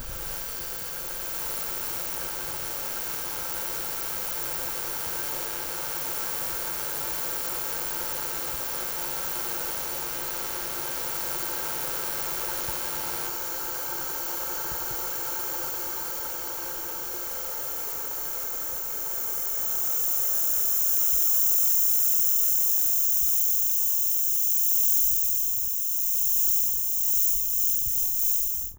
Electro Magnetic Interference of an Electric kettle 0.0 - 28.7

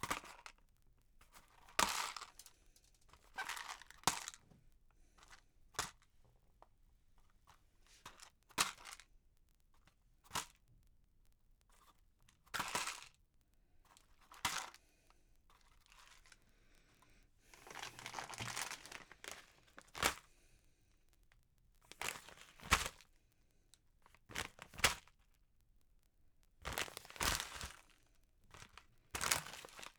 Dropping groceries plastic packet into a supermarket basket 1.3 - 4.4
Dropping groceries plastic packet into a supermarket basket 8.0 - 9.1
Dropping groceries plastic packet into a supermarket basket 14.2 - 14.8
Dropping groceries plastic packet into a supermarket basket 17.5 - 20.3
Dropping groceries plastic packet into a supermarket basket 21.9 - 23.1
Dropping groceries plastic packet into a supermarket basket 24.1 - 25.2
Dropping groceries plastic packet into a supermarket basket 26.6 - 29.9

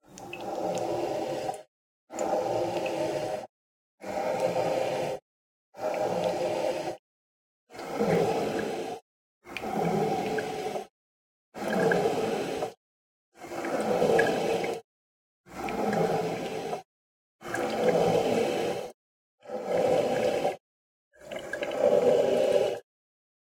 coffeemaker breathing 0.2 - 5.2
coffeemaker breathing 5.8 - 7.0
coffeemaker breathing 11.8 - 12.8
coffeemaker breathing 17.7 - 20.6

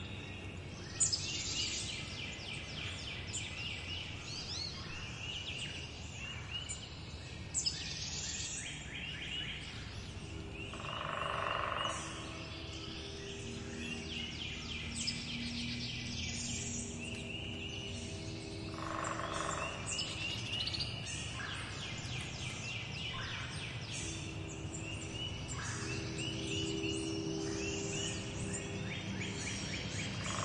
migrating birds 9.5 - 30.4

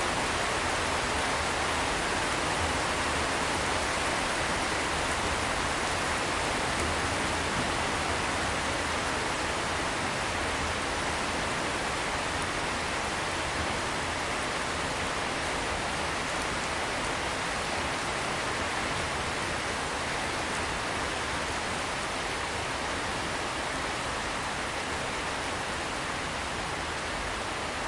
intensifying rain 0.0 - 27.8

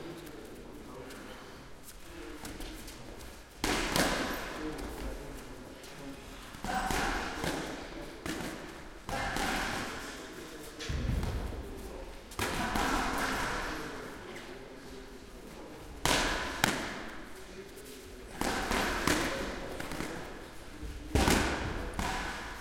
kick 10.8 - 13.2

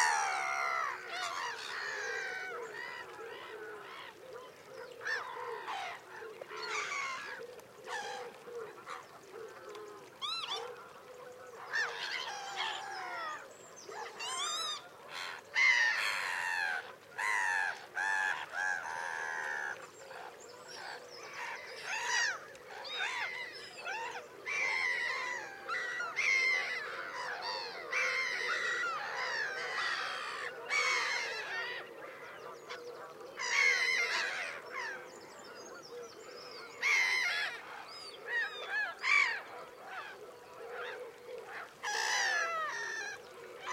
black-headed gulls 0.0 - 4.2
greylag geese 0.0 - 13.4
Egyptian geese 0.0 - 43.7
woodpigeons 0.0 - 43.7
greylag geese 14.0 - 43.7
black-headed gulls 21.4 - 32.8
black-headed gulls 36.8 - 43.7

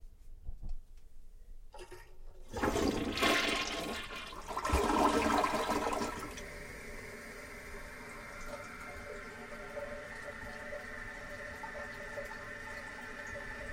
Toilet Flushing 1.7 - 13.7

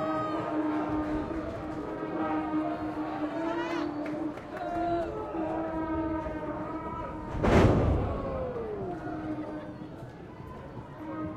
vuvuzela 0.0 - 7.3
Mexican Wrestling 0.0 - 11.3
cheering 0.0 - 11.3
referee 0.0 - 11.3
yelling 0.0 - 11.3
clapping 3.6 - 5.5

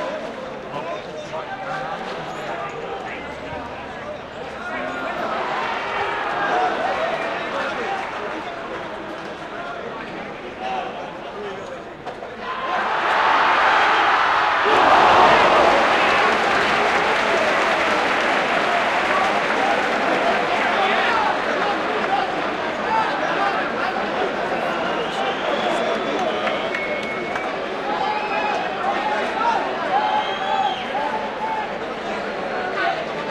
supporters yelling encouragement to their soccerteam 12.4 - 24.2

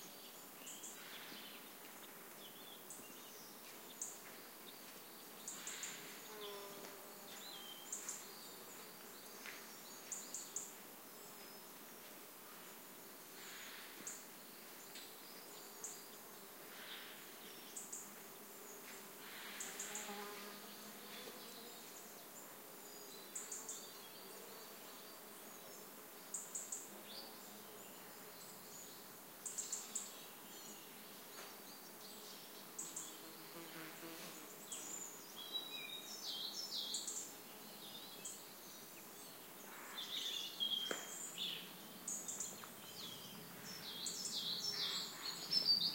buzzing insects 5.4 - 10.9
buzzing insects 13.2 - 45.9
singing birds 13.4 - 45.9

